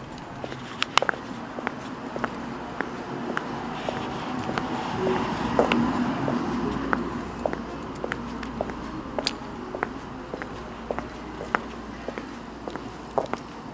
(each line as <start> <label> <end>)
0.0 wind blowing leaves 13.7